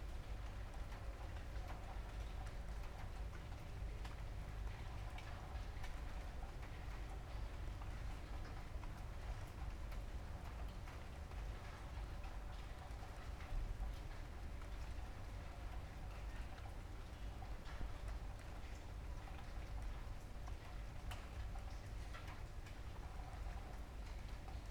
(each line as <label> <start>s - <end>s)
night rain 0.0s - 24.7s